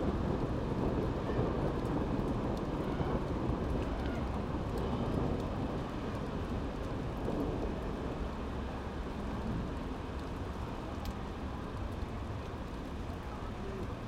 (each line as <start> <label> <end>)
0.0 rain 14.0
0.0 Thunder 8.2